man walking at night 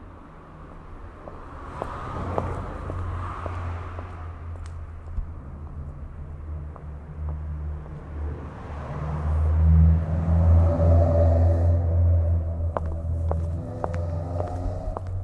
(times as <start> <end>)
0.6 8.5, 12.2 15.2